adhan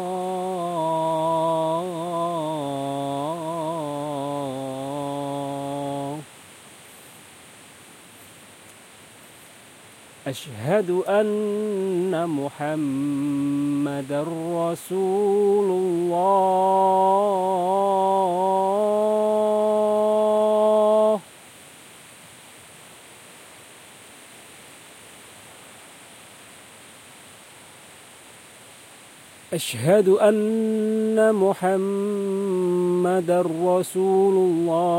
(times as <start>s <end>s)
0.0s 7.1s, 10.2s 21.4s, 29.5s 34.9s